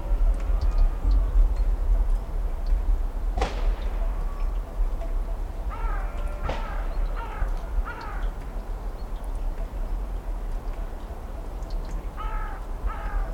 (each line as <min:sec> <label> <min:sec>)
0:05.7 crows 0:08.4
0:12.2 crows 0:13.3